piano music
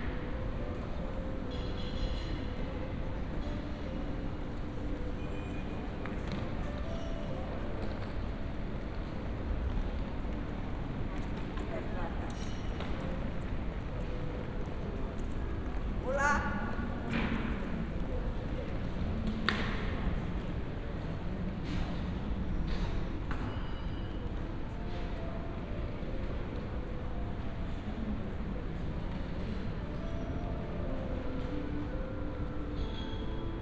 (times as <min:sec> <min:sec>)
0:00.0 0:11.1, 0:22.8 0:33.6